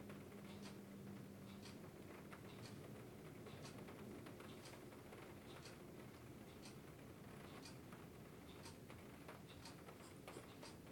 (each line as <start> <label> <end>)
0.0 Rain falls on the sunroof 10.9
0.5 clock ticks 0.8
1.4 clock ticks 1.8
2.4 clock ticks 2.8
6.5 clock ticks 6.8
7.5 clock ticks 7.8
8.5 clock ticks 8.8
9.5 clock ticks 10.9